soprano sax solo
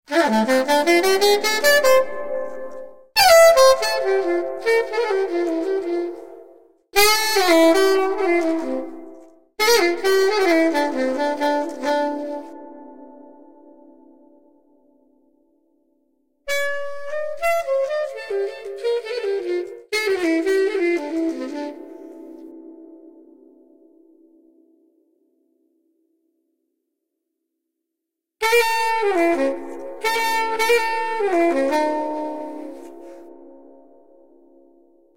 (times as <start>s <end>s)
0.1s 14.4s, 16.5s 23.7s, 28.4s 33.9s